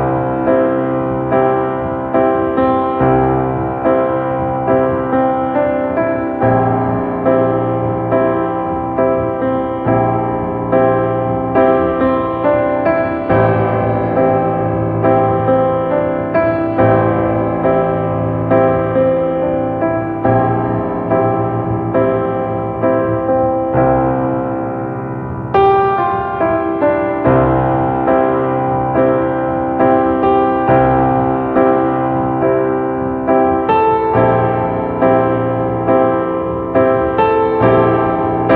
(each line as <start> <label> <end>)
0.0 classical piano 38.5